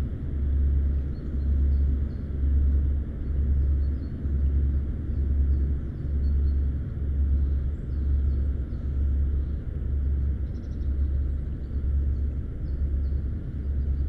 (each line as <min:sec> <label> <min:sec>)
0:00.0 cargo ship 0:14.0